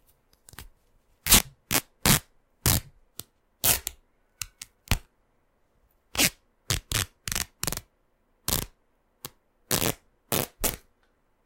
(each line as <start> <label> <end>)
9.7 Fabric ripping and tearing 10.8